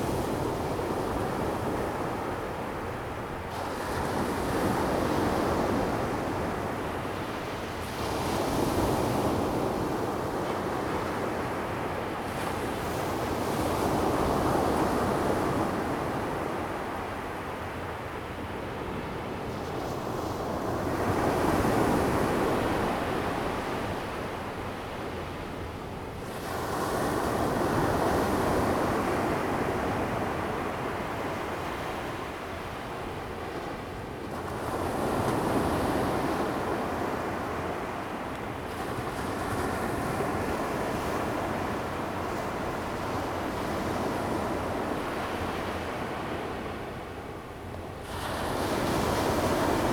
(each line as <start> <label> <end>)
0.0 waves 49.9